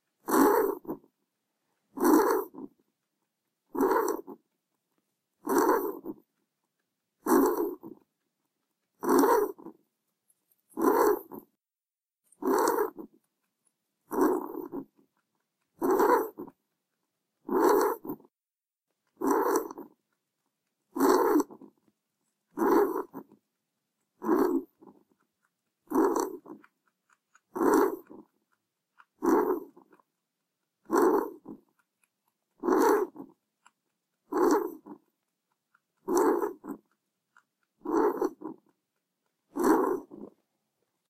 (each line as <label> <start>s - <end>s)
Loud bunny rabbit snoring 0.0s - 1.2s
Loud bunny rabbit snoring 1.8s - 2.9s
Loud bunny rabbit snoring 3.6s - 4.5s
Loud bunny rabbit snoring 5.4s - 6.4s
Loud bunny rabbit snoring 7.2s - 8.2s
Loud bunny rabbit snoring 8.9s - 9.8s
Loud bunny rabbit snoring 10.7s - 11.6s
Loud bunny rabbit snoring 12.3s - 13.2s
Loud bunny rabbit snoring 14.0s - 16.7s
Loud bunny rabbit snoring 17.4s - 18.4s
Loud bunny rabbit snoring 19.1s - 20.1s
Loud bunny rabbit snoring 20.8s - 21.9s
Loud bunny rabbit snoring 22.5s - 23.4s
Loud bunny rabbit snoring 24.1s - 30.1s
Loud bunny rabbit snoring 30.8s - 31.9s
Loud bunny rabbit snoring 32.5s - 40.4s